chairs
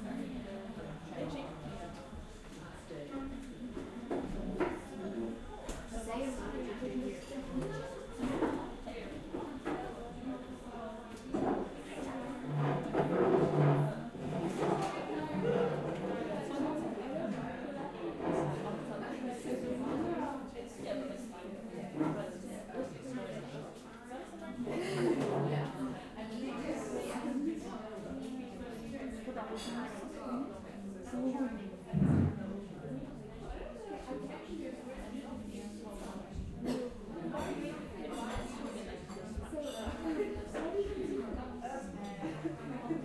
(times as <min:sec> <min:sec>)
0:12.4 0:16.2